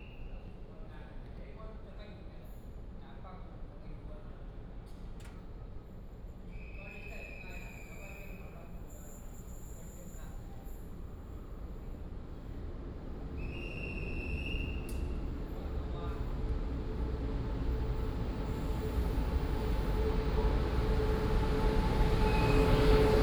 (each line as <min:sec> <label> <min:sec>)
0:05.0 train arrived at the stop 0:23.2